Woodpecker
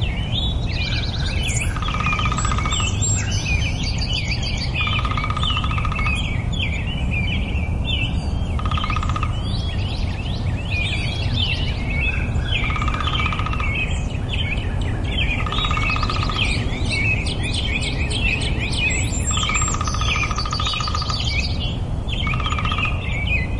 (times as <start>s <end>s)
0.9s 3.5s, 4.4s 6.2s, 8.6s 9.6s, 12.6s 13.9s, 15.1s 18.0s, 18.7s 21.6s, 22.2s 23.2s